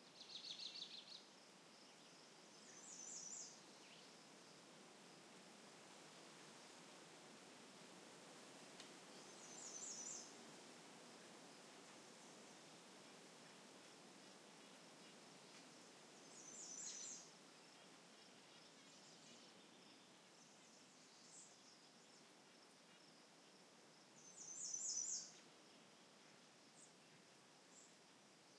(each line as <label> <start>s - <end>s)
bugs 0.0s - 28.5s
birds 9.1s - 10.4s
birds 14.6s - 22.3s
birds 24.2s - 25.4s